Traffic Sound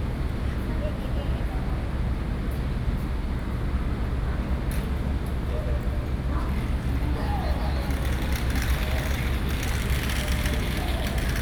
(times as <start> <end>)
6.5 11.4